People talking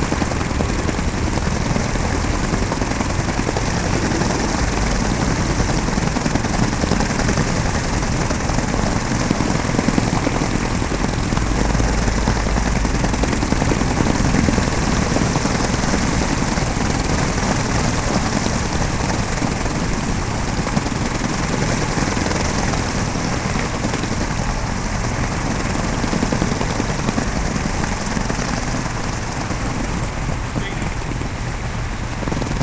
3.7 5.9, 30.5 31.3

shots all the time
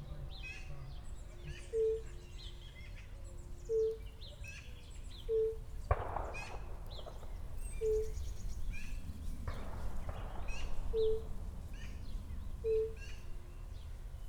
5.8 14.2

